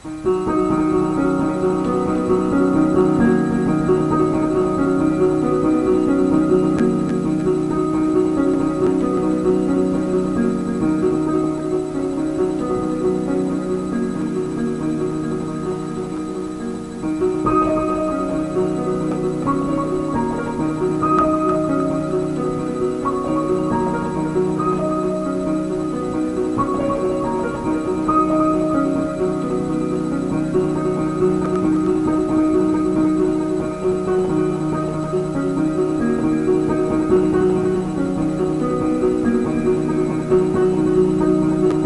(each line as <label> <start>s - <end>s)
short piano rif played by me and passed through 0.0s - 41.8s